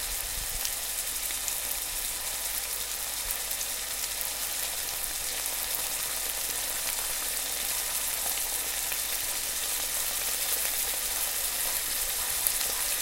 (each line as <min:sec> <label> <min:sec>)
0:00.0 Frying Bacon 0:13.0